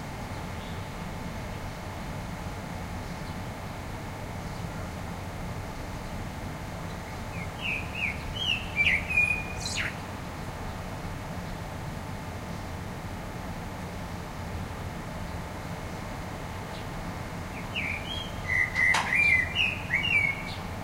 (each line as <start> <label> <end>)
0.0 distant traffic rumble 12.2
6.9 Blackbird singing 10.1
14.7 distant traffic rumble 20.8
17.5 Blackbird singing 20.7